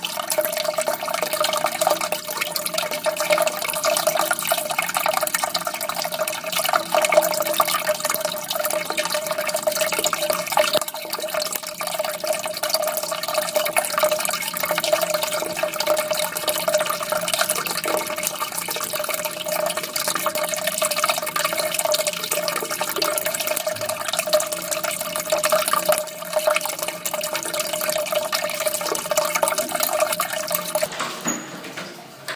Water keeps on running 0:00.0 - 0:31.0

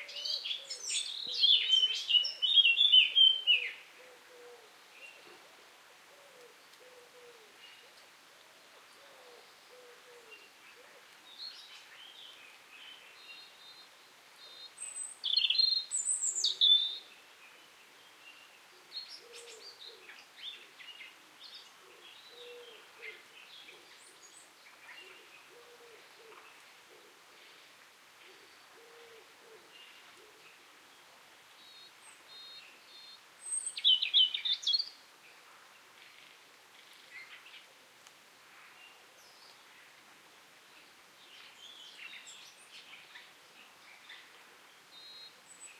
birdsong 0:00.0 - 0:37.8
small drops of rain are hitting the ground 0:00.0 - 0:45.7
birdsong 0:40.6 - 0:45.7

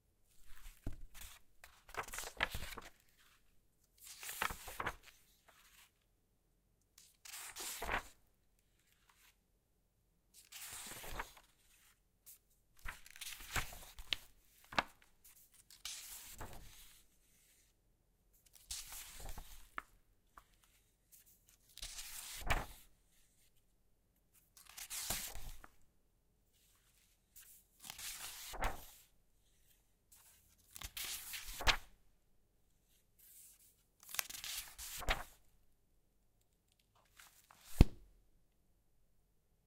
Turning several pages of a book 0:00.2 - 0:09.6
Turning several pages of a book 0:10.2 - 0:38.3

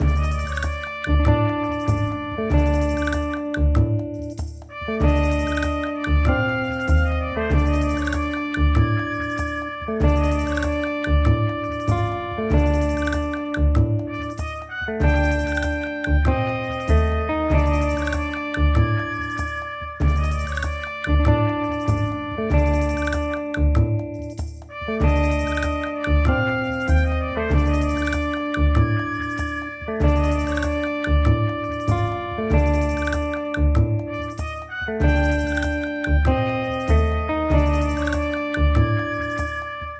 shaker 0:00.0 - 0:39.8
guitar 0:00.0 - 0:39.9
trumpet 0:00.0 - 0:39.9

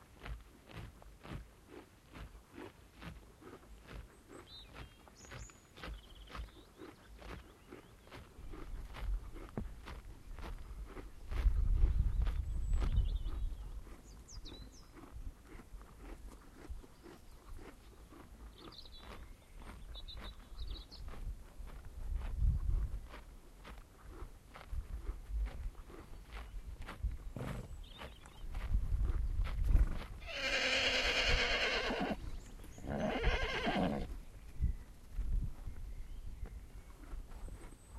cow 0:00.0 - 0:34.2
Pony eating grass 0:00.0 - 0:37.9
wind 0:00.0 - 0:37.9
bird song 0:03.4 - 0:09.0
bird song 0:10.6 - 0:15.3
bird song 0:16.8 - 0:21.2
bird song 0:26.0 - 0:29.4
neighing 0:30.2 - 0:32.2
bird song 0:32.2 - 0:37.9
neighing 0:32.8 - 0:34.1

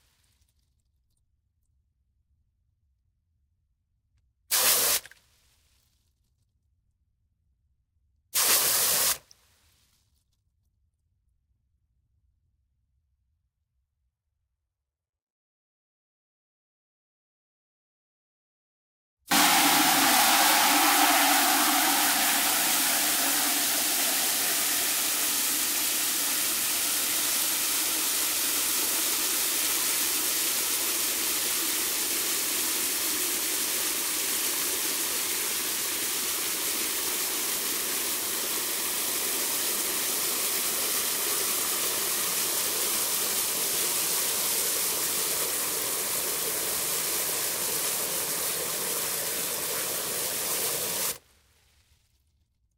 water spray in plastic bucket 0:04.5 - 0:05.2
water spray in plastic bucket 0:08.4 - 0:09.3
water spray in plastic bucket 0:19.3 - 0:51.2

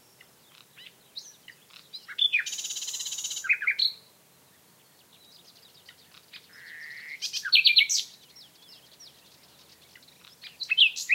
nightingale 0:00.0 - 0:11.1

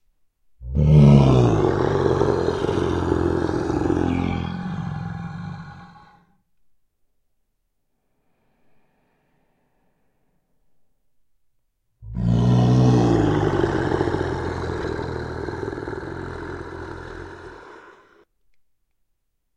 Deep Growling 0:00.6 - 0:06.2
screaming 0:00.8 - 0:06.2
Deep Growling 0:12.0 - 0:18.2
screaming 0:12.1 - 0:18.2

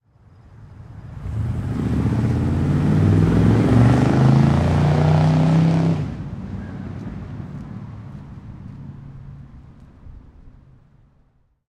performance car pull away fast 0:01.1 - 0:07.6

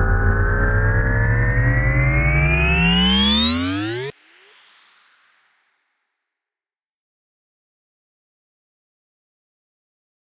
warpdrive-long 0:00.0 - 0:04.1

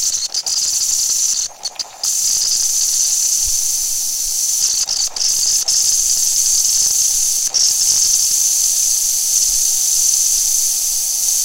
Cappuccino machine frothing (steaming) milk 0:00.0 - 0:11.4

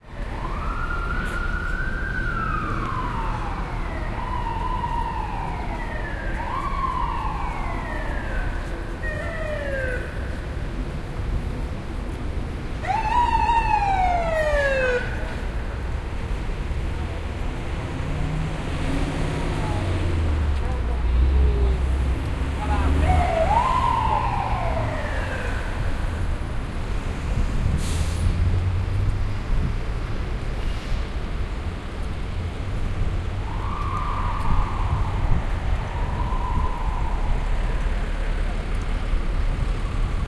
traffic 0:00.0 - 0:40.2
Sirenes on street4Police 0:00.0 - 0:11.3
Sirenes on street4Police 0:12.8 - 0:17.1
Sirenes on street4Police 0:19.4 - 0:27.0
Sirenes on street4Police 0:33.3 - 0:40.2

